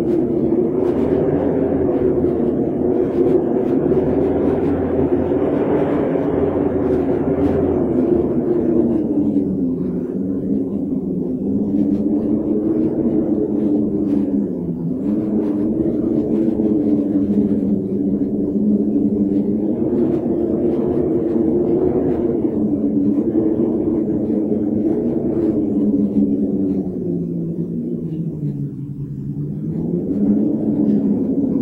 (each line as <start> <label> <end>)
0.0 Wind howling under a door 31.6